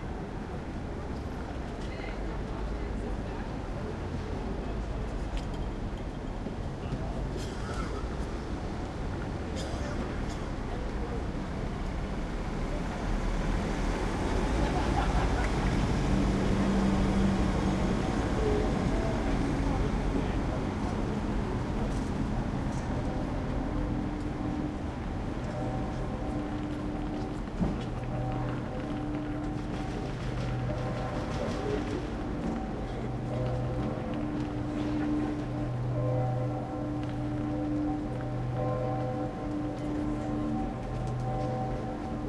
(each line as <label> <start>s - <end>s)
trucks are driving around 0.0s - 42.2s
church bells are ringing 13.9s - 42.2s